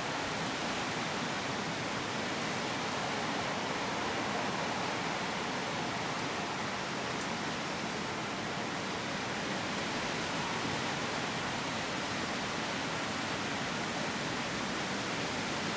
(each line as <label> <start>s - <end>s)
Wind can be heard blowing through nearby woods 0.0s - 15.7s
rain 0.0s - 15.7s